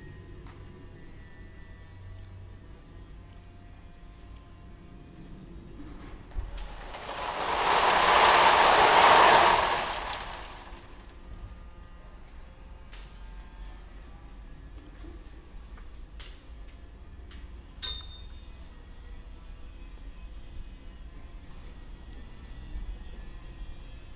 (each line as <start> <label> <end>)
6.4 stones sliding down a rubble slide 11.1